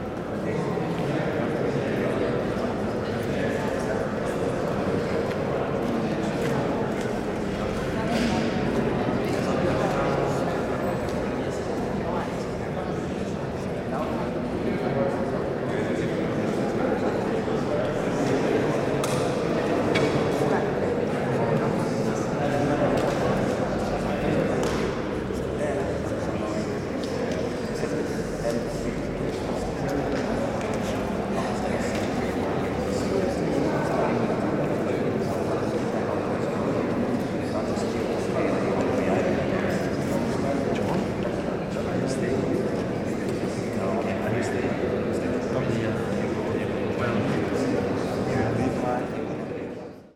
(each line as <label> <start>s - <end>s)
chatter before the concert 0.0s - 50.1s